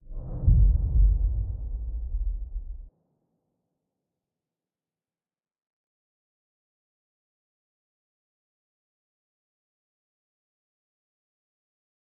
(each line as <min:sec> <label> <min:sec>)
0:00.2 Impact Boom 0:02.9